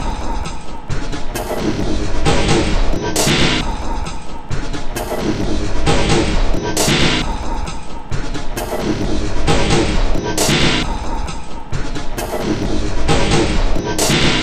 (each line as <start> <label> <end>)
0.0 Drum Loop 14.4